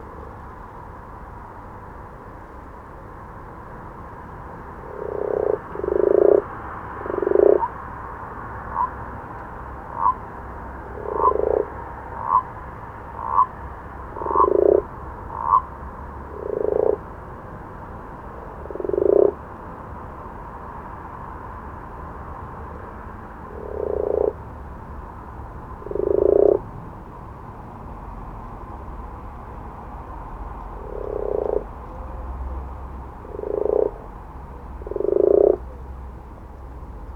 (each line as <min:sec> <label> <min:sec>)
0:00.0 cars 0:37.1
0:04.4 frogs or toads 0:27.4
0:04.9 distant owls 0:07.8
0:08.6 distant owls 0:09.1
0:09.8 distant owls 0:12.5
0:13.2 distant owls 0:13.5
0:14.2 distant owls 0:15.7
0:28.0 frogs or toads 0:37.1
0:30.7 distant owls 0:32.2